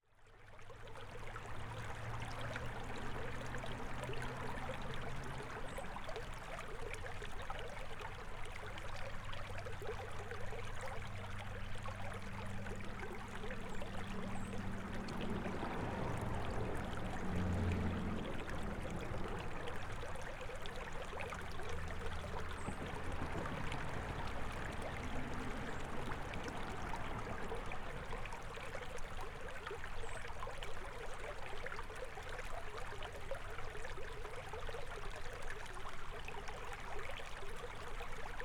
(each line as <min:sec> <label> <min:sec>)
0:00.0 Creek 0:38.4
0:13.5 autos crossing bridge 0:20.2
0:21.4 autos crossing bridge 0:28.5